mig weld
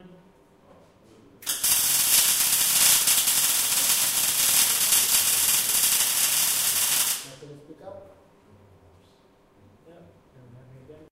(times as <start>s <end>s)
1.4s 7.4s